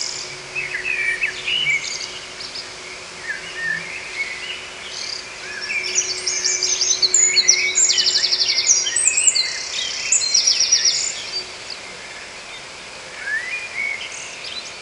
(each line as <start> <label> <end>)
0.0 Birds In The Fields 14.8